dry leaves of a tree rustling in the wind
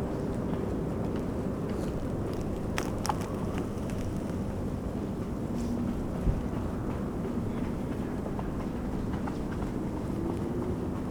0:00.0 0:07.4

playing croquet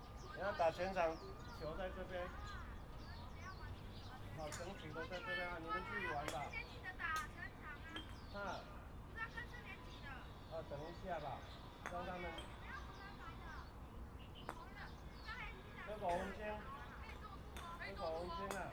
0:04.2 0:07.4, 0:11.8 0:12.7, 0:15.4 0:18.7

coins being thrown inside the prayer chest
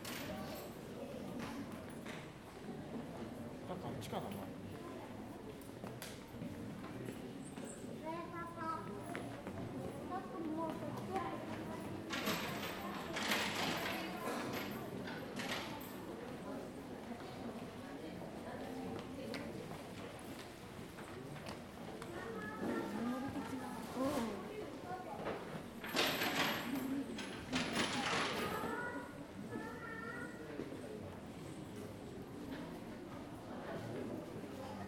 0:25.8 0:28.6

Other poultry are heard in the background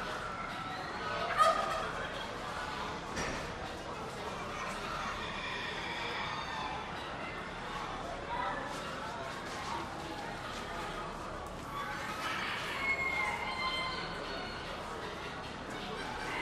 0:00.4 0:02.1, 0:04.8 0:07.5, 0:11.7 0:16.4

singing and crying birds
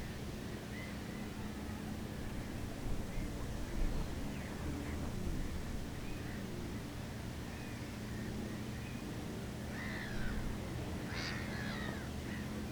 0:11.1 0:12.5

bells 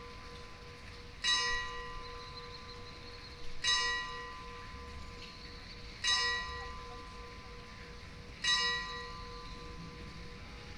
0:08.4 0:10.0

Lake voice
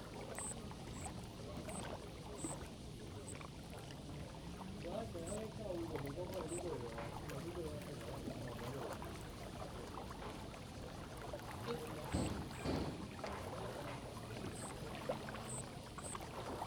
0:04.2 0:10.2

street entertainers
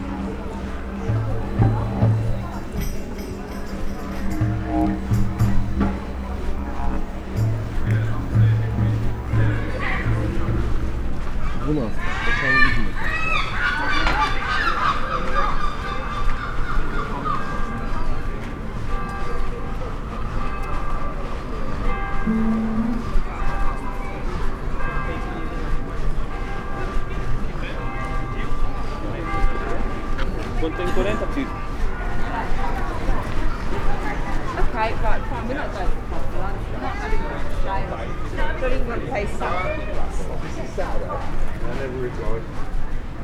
0:00.0 0:14.5, 0:22.0 0:23.6

